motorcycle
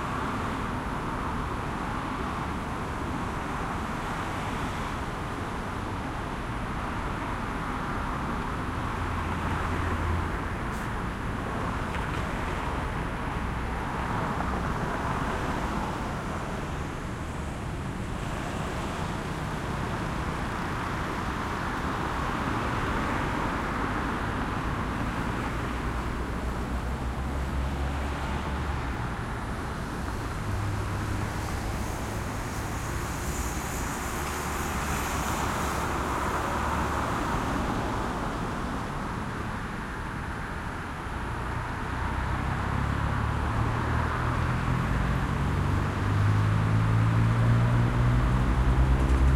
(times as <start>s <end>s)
40.6s 49.3s